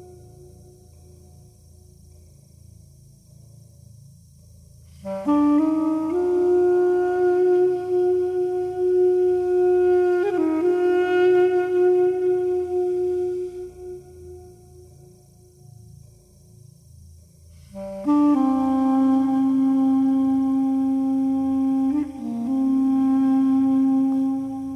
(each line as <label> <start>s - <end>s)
duduk 4.9s - 15.8s
duduk 17.6s - 24.7s